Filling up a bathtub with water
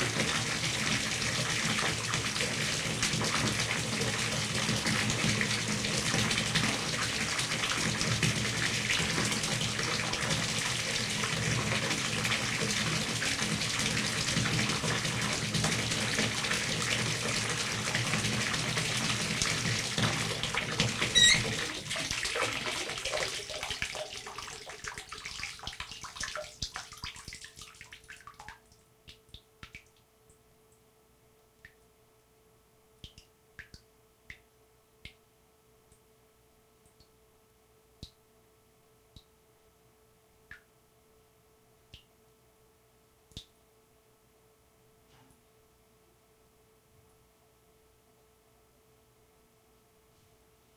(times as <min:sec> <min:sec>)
0:00.0 0:30.0